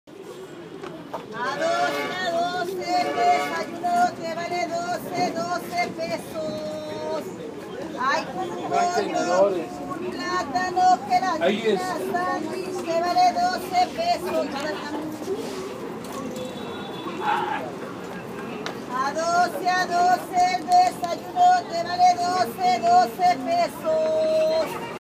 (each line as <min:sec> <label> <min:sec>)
0:00.1 Vendedora 0:25.0